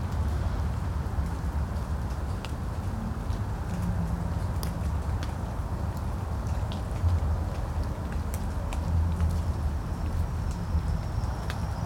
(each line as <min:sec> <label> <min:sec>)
0:00.0 water dripping from the trees 0:11.8